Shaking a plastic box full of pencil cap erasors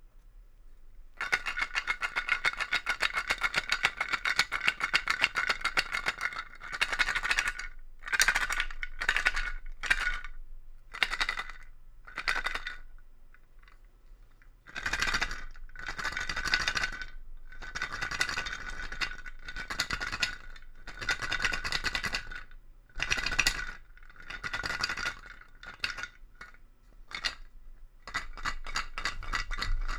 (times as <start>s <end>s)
28.1s 29.9s